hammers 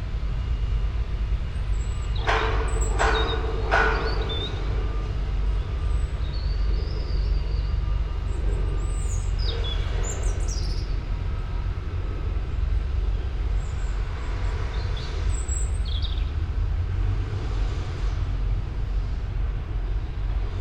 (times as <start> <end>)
2.2 4.7